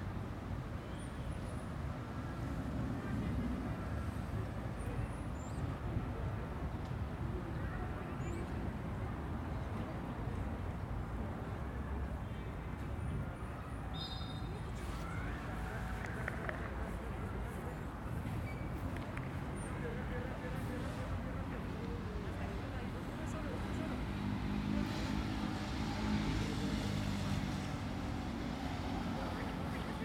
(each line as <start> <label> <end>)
0.0 little traffic 30.0
0.0 people pass by selling their products 30.0
14.8 airplane flights 30.0
18.4 motorcycles 30.0